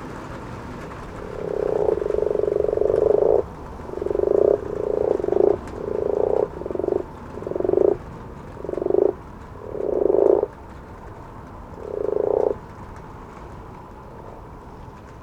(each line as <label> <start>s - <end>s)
distant jet planes 0.0s - 15.2s
distant owls 0.9s - 10.6s
frogs or toads 1.0s - 10.6s
frogs or toads 11.8s - 12.7s
distant owls 11.8s - 12.6s